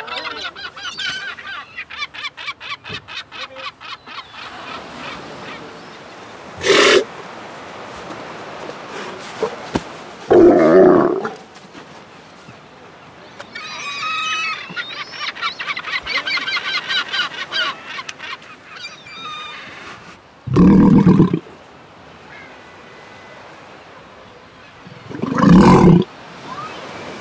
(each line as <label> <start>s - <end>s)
Sea Lion screaming 6.6s - 7.1s
Sea Lion screaming 10.3s - 11.4s
Sea Lion screaming 25.0s - 26.1s